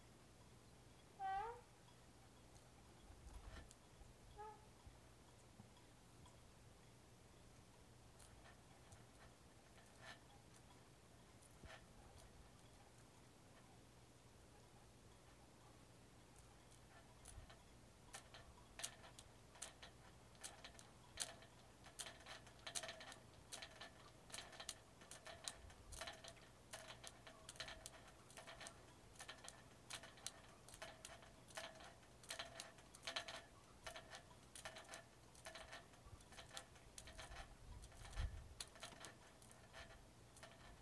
gamelan chorus of sailboat riggings in the wind 16.1 - 40.8

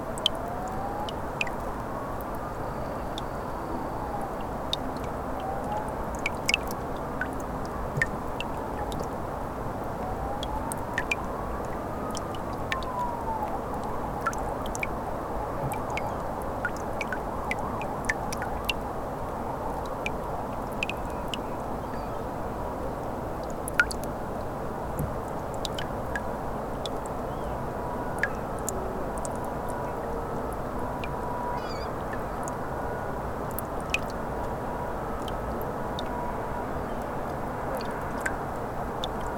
Water dripping from the melting ice plates 0.1 - 2.4
Water dripping from the melting ice plates 4.2 - 9.2
Water dripping from the melting ice plates 9.9 - 15.0
Water dripping from the melting ice plates 15.6 - 18.9
Water dripping from the melting ice plates 19.7 - 22.1
Water dripping from the melting ice plates 23.0 - 27.5
Water dripping from the melting ice plates 28.2 - 29.8
Water dripping from the melting ice plates 33.5 - 34.6
Water dripping from the melting ice plates 37.7 - 39.3

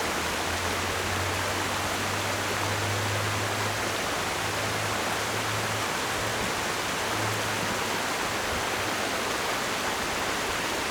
water streams 0.0 - 10.9

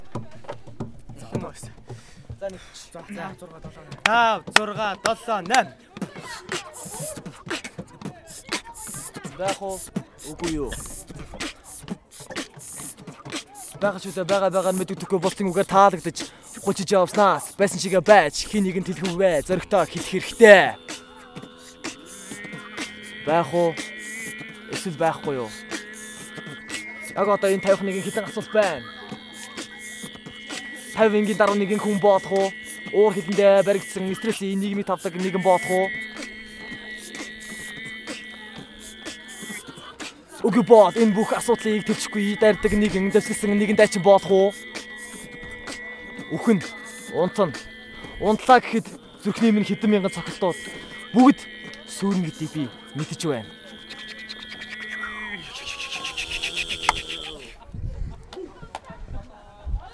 Students rapping the famous Hamlet-monologue 0.0 - 57.6

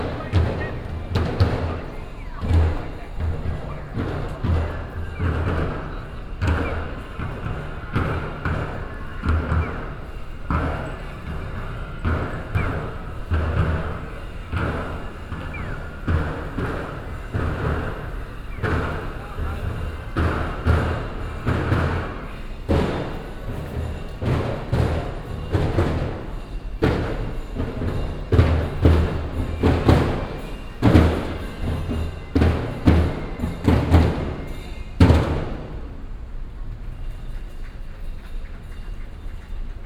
traditional japanese drummer performing 0.0 - 39.8

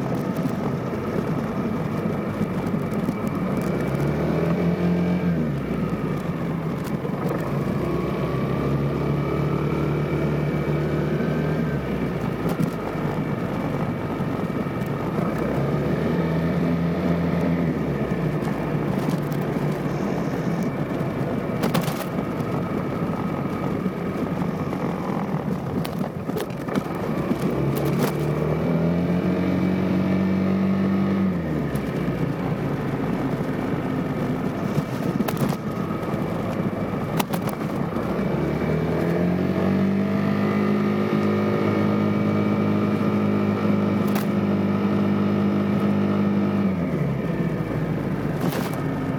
Vespa ride 0.0 - 30.5

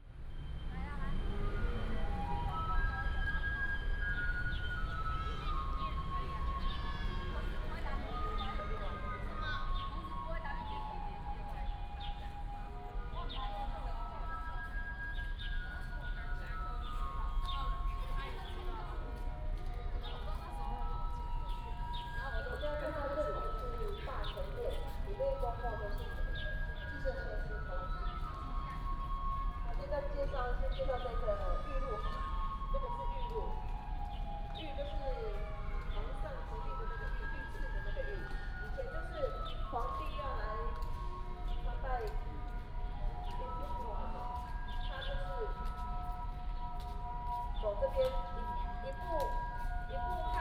Traffic sound 0.0 - 13.2

